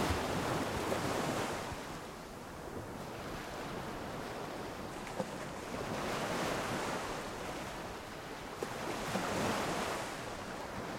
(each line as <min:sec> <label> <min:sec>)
0:00.0 waves on a beach 0:10.9